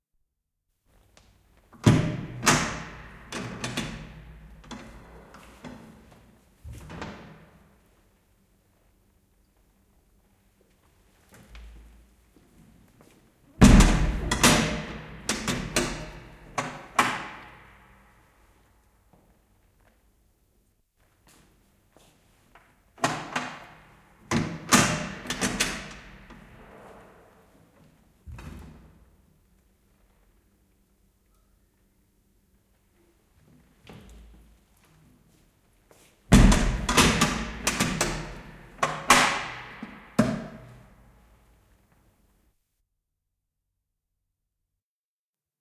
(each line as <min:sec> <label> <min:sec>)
0:01.8 Cell door and lock open and close 0:06.0
0:13.6 Cell door and lock open and close 0:17.8
0:13.6 Lock 0:17.5
0:23.0 Lock 0:26.4
0:23.0 Cell door and lock open and close 0:26.8
0:36.3 Cell door and lock open and close 0:41.0
0:36.4 Lock 0:40.8